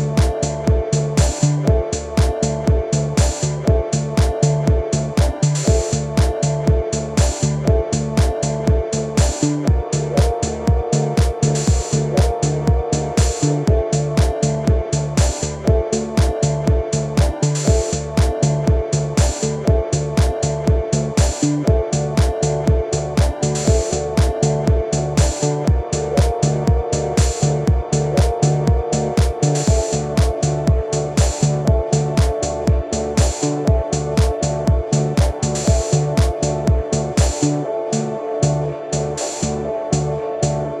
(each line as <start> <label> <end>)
0.0 bass 40.8
0.0 percs 40.8
0.0 synth 40.8
29.2 kick 37.4